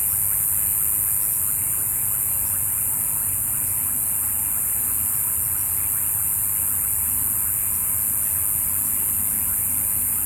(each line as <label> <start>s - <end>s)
insectos 0.0s - 10.2s